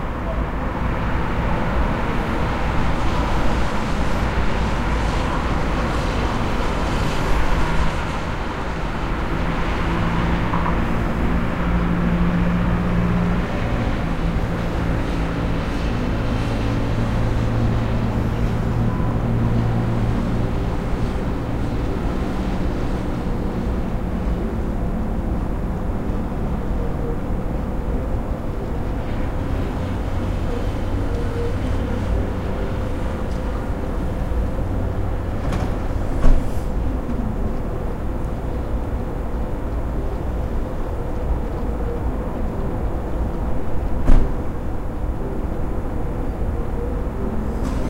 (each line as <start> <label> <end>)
0.0 traffic 47.8